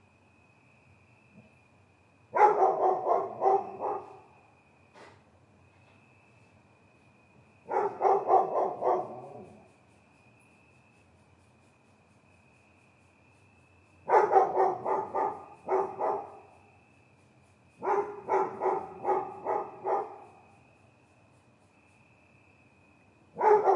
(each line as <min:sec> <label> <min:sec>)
0:00.0 cricket 0:23.7
0:02.3 Dog bark 0:04.3
0:07.7 Dog bark 0:09.7
0:14.0 Dog bark 0:16.5
0:17.8 Dog bark 0:20.4
0:23.3 Dog bark 0:23.7